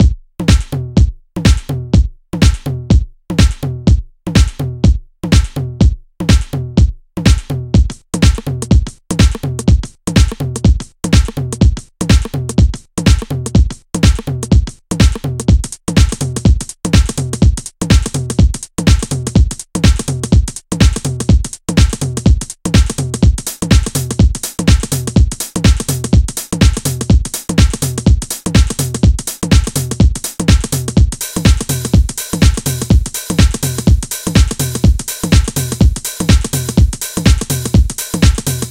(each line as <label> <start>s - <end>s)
House/Techno Drum Loop 0.0s - 38.7s